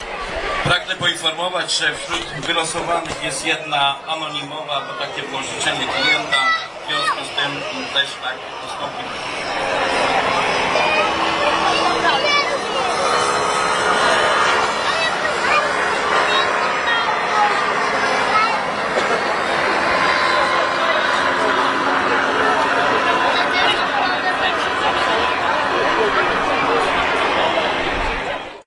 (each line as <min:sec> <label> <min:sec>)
0:00.0 paraglider show sound 0:28.6